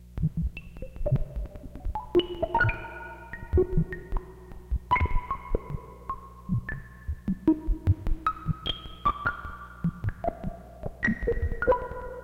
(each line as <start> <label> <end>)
0.2 Sine Noise Droplets 12.2